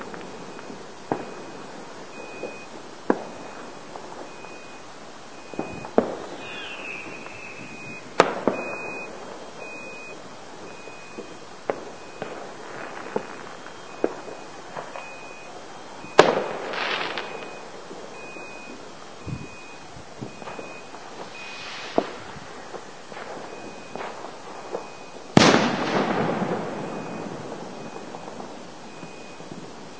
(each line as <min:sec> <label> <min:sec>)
0:00.0 crackly fireworks 0:29.9